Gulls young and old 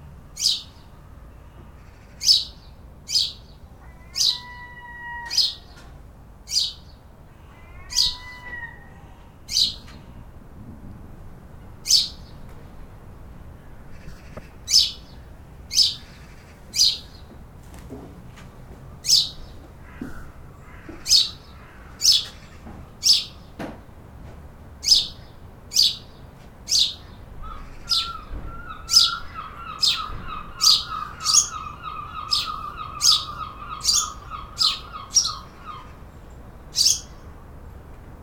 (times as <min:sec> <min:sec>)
0:24.8 0:36.1